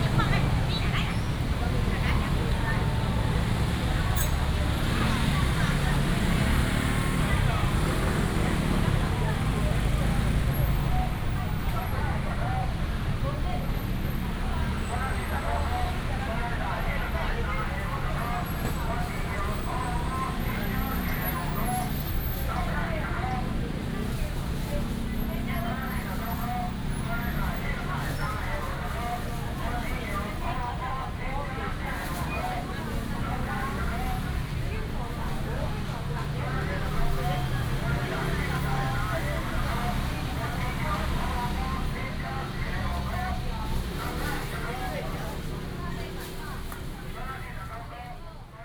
0.0s motorcycles 48.2s
0.0s vendors peddling 48.5s
0.0s Walking in the traditional market 48.6s

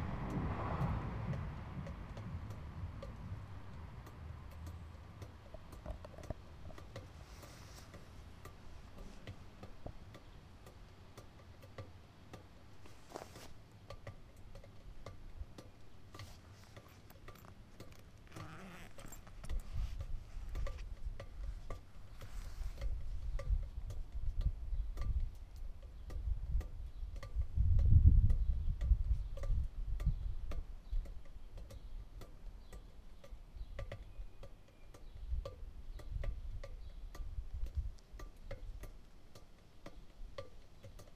0.0s cars 22.8s
0.0s percussive sounds occurring in a drain pipe 41.1s
28.4s birds 37.4s

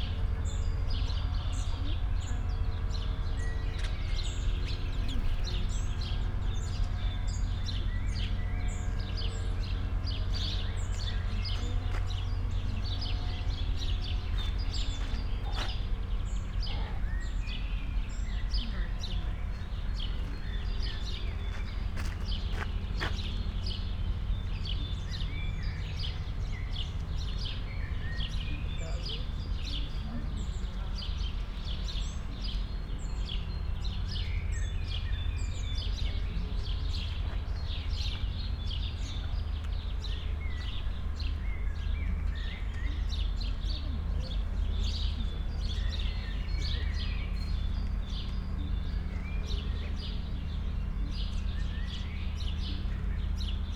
0.0s free birds 53.7s
9.8s steps around 17.0s
18.6s steps around 24.1s
28.3s steps around 41.4s

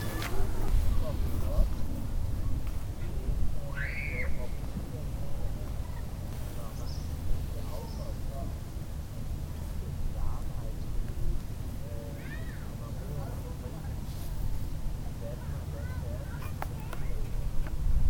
0.0s wind moves 11.8s
0.0s group of newcomers joining on the meadow 18.0s
15.8s kids jumping on the nearby trampolin 17.8s
16.9s wind moves 18.0s

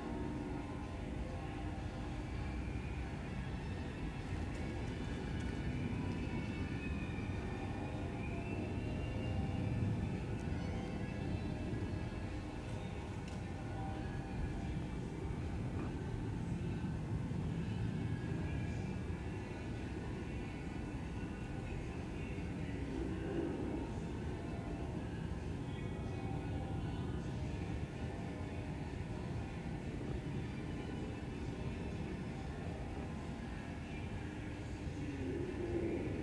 0.0s church bells are ringing in the distance 3.2s
0.0s planes above 36.2s

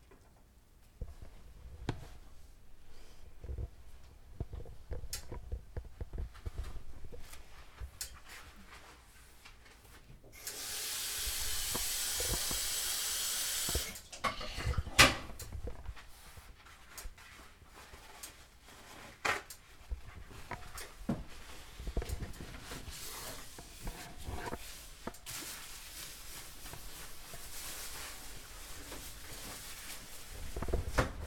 10.4s Cooking 15.6s

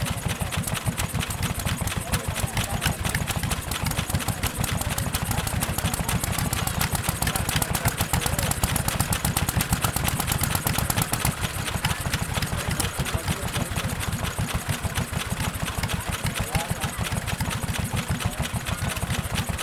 0.0s Vintage portable steam and petrol engines 19.6s
0.0s chatter of crowd 19.6s
0.0s flywheels spin 19.6s
0.0s phasing sounds from buskers in distance 19.6s

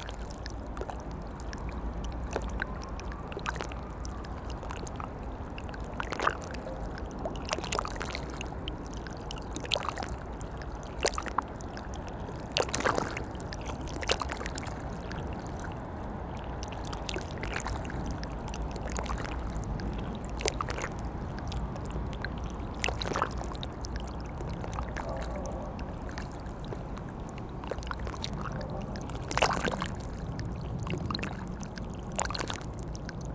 0.0s Soft river Seine flowing near the barges 33.3s

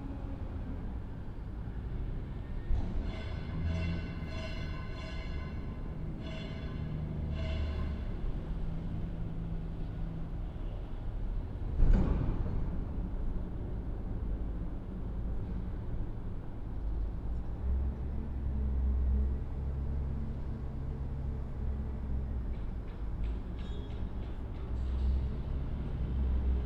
6.8s vehicle moving containers around 26.6s

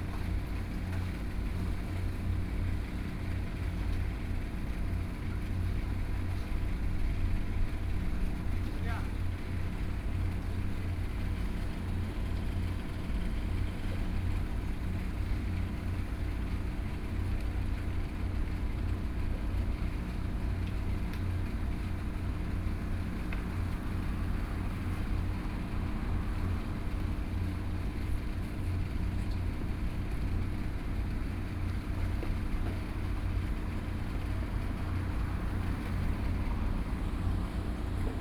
34.0s Traffic Sound 38.2s

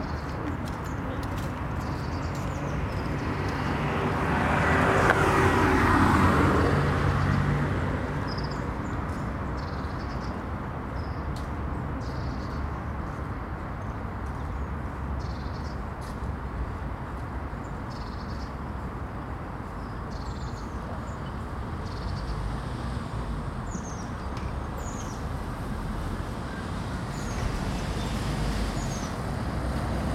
0.0s traffic 30.1s
20.9s Roadworks 30.1s

